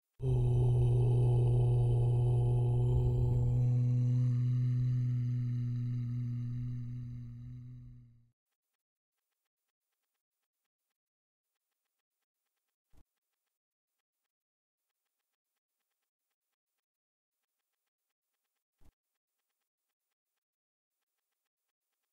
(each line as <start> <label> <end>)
0.2 OM MANTRA 2 8.2